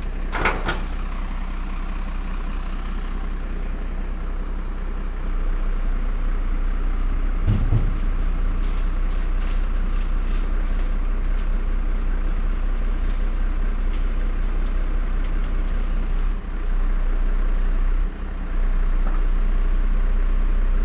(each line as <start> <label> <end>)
5.5 einhängen und aufladen eines schuttcontainers 16.4